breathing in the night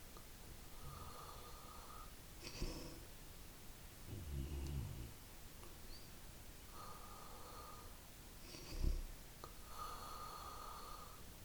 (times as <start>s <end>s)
0.7s 3.1s, 6.7s 11.4s